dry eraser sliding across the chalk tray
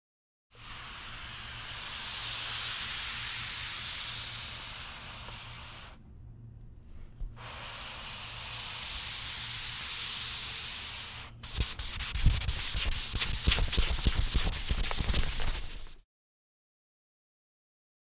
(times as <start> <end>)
10.7 16.0